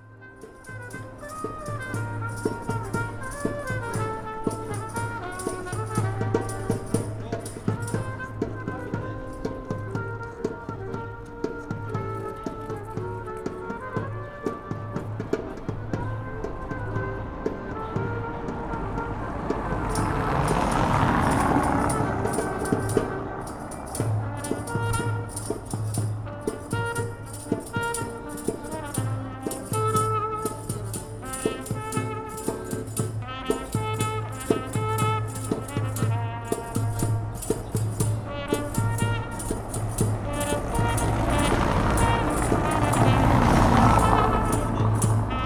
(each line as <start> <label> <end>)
0.0 musicians performing along the street 45.4